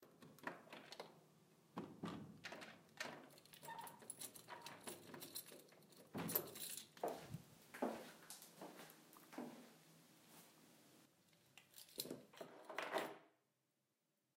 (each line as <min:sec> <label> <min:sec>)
0:00.0 door lock and door that opens 0:01.2
0:01.8 door lock and door that opens 0:07.0
0:01.9 keys that are placed on a table 0:08.6
0:06.1 footsteps 0:10.6
0:11.4 keys that are placed on a table 0:13.4
0:11.8 door lock and door that opens 0:13.4